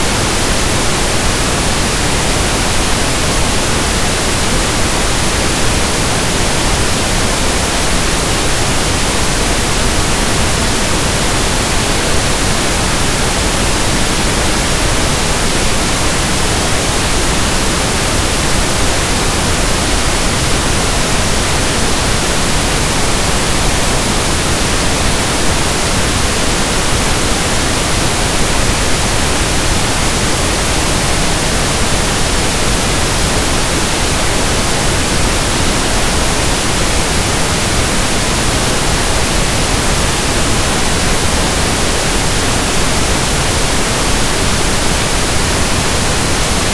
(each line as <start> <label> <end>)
0.0 pink noise 46.7